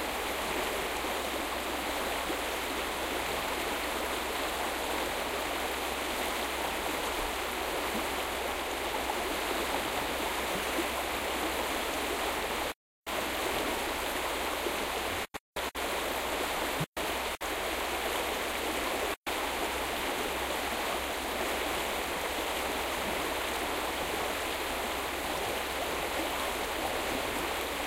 river 0.0 - 27.8

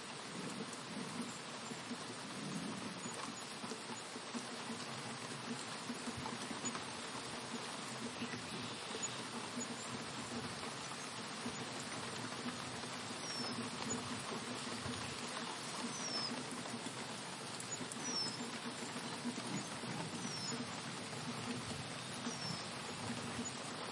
rain 0.0 - 23.9
wind 0.0 - 23.9
birds can be heard chipping 13.1 - 16.6
birds can be heard chipping 17.6 - 20.8
birds can be heard chipping 21.5 - 23.6

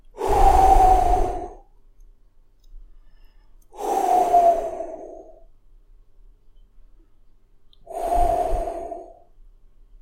slowly exhaling smoke 3.7 - 5.4
slowly exhaling smoke 7.9 - 9.3

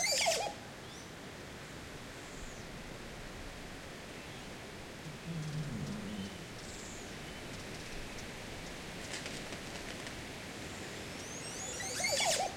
Oropendolo 4.9 - 7.8

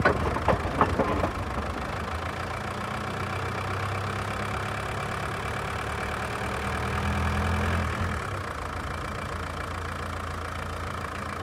clunk 0.0 - 2.2
Diesel Engine Problem 0.0 - 6.6

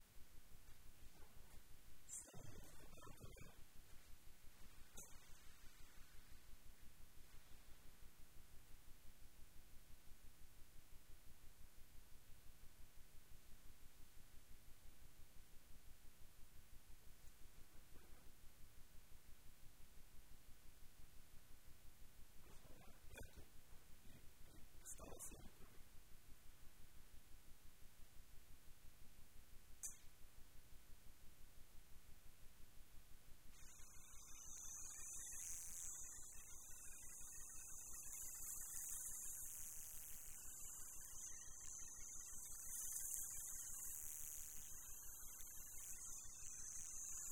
shaving hair 33.6 - 47.3

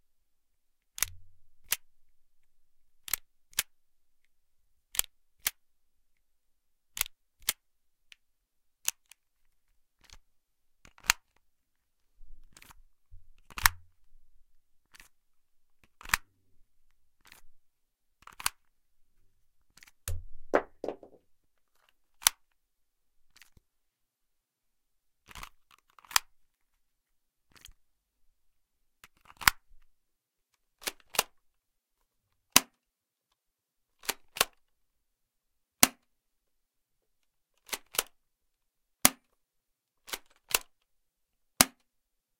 airsoft handguns, both metallic and ABS (Plastic), being cocked 3.0 - 3.7

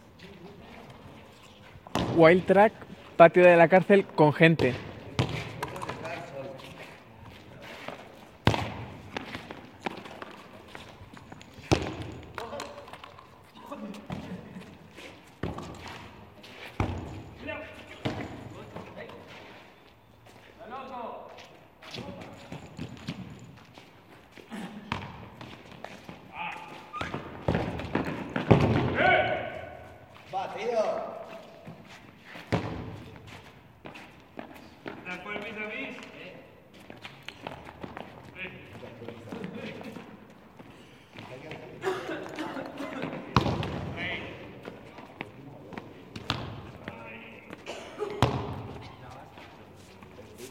basketball 1.8 - 3.0
basketball 4.4 - 6.8
basketball 7.5 - 13.2
basketball 15.2 - 19.4
basketball 21.8 - 23.7
basketball 24.4 - 29.9
basketball 32.4 - 35.5
people 37.3 - 50.5
basketball 42.3 - 50.5

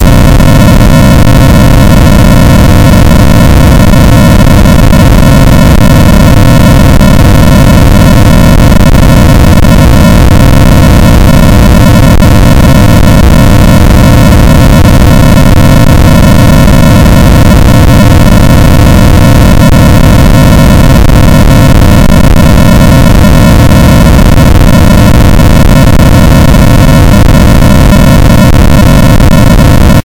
clipnoise 0.0 - 30.0

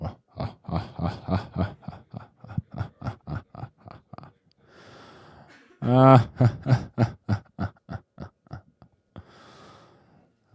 laughs silently 0.0 - 4.5
laughs silently 5.5 - 9.0

